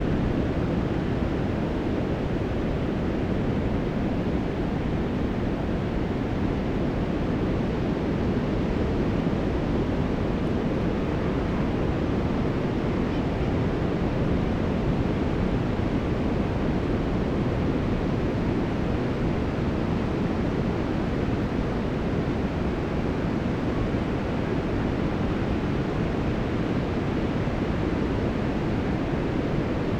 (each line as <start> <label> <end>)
0.0 wind 29.9